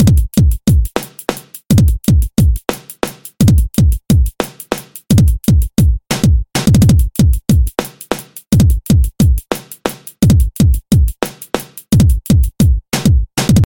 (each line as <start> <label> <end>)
0.0 drum pattern 13.6